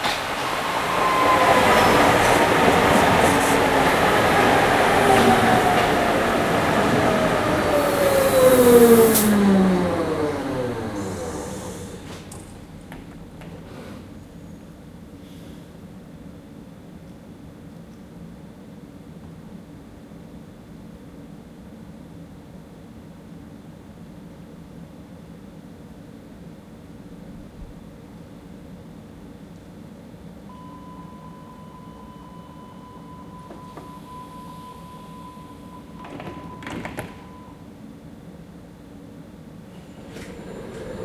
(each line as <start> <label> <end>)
0.0 Subway arriving and leaving 17.6
30.0 Subway arriving and leaving 41.0